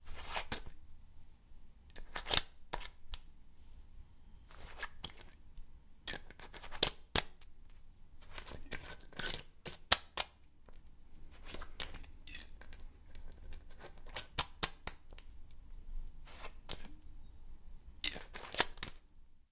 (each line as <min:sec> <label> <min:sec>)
0:01.9 unscrewing and screwing the metal lid on an old glass cola bottle 0:03.2
0:06.1 unscrewing and screwing the metal lid on an old glass cola bottle 0:07.4
0:08.2 unscrewing and screwing the metal lid on an old glass cola bottle 0:10.4
0:11.3 unscrewing and screwing the metal lid on an old glass cola bottle 0:15.2
0:16.3 unscrewing and screwing the metal lid on an old glass cola bottle 0:17.0
0:18.0 unscrewing and screwing the metal lid on an old glass cola bottle 0:19.0